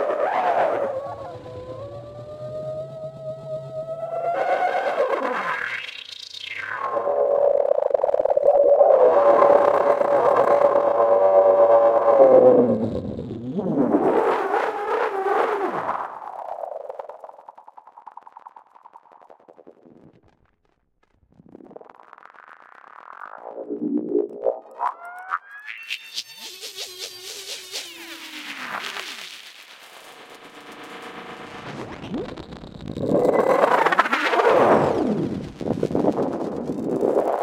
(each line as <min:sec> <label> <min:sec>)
0:00.0 Frequency and filter sweeps 0:06.0
0:30.2 Frequency and filter sweeps 0:37.4